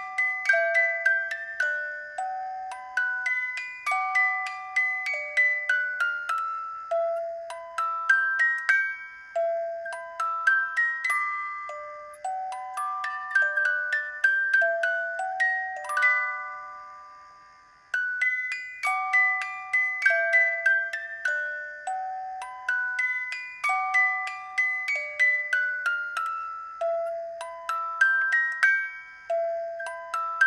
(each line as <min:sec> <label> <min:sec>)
0:00.0 little music box 0:30.4